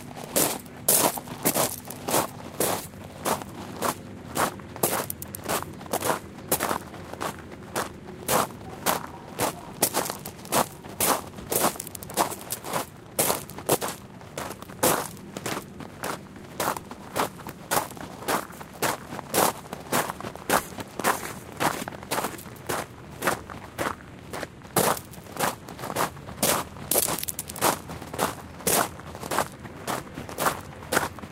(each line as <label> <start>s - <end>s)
Footsteps on gravel walking 0.0s - 31.3s